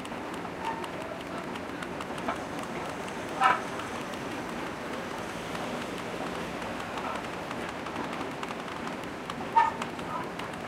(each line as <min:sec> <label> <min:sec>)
0:00.0 Screeching subway entrance escalator 0:07.4
0:09.4 Screeching subway entrance escalator 0:10.4